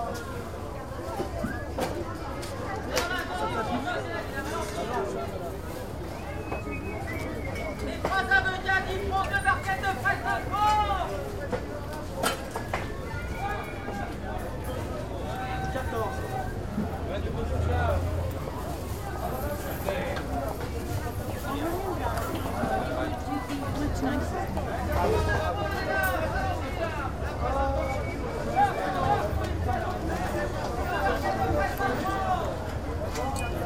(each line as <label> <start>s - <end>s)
vendors calling on busy market place 0.0s - 33.6s